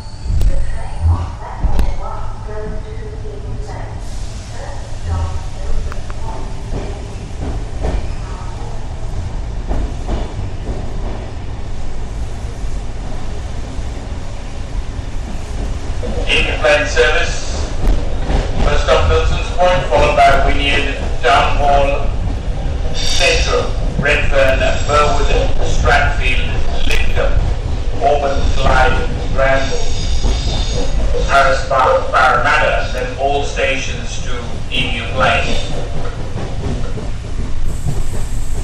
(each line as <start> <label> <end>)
0.0 announcement made inside and outside of train 38.6
0.0 train leaving station 38.6
0.0 train stopping 38.6